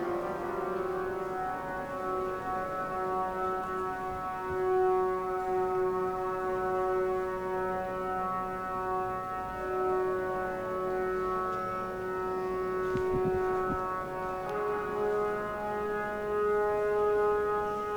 organ tuning 0:00.0 - 0:06.2

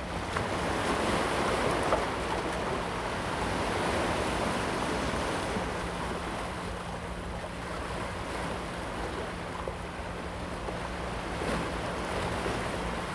tide 0:00.0 - 0:13.1
yacht 0:00.0 - 0:13.1

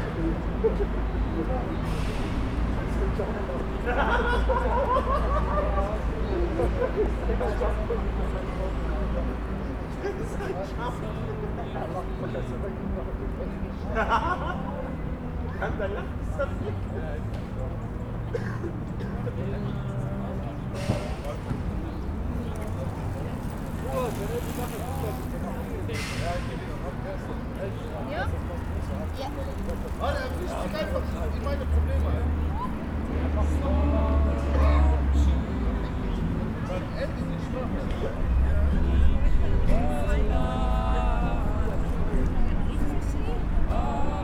singen 0:43.6 - 0:44.2

